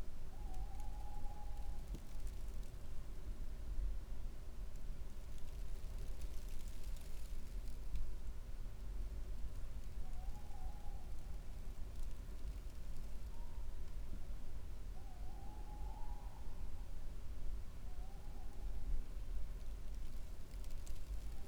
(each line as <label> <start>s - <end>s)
light snowflakes on paper 4.7s - 8.1s
light snowflakes on paper 19.6s - 21.4s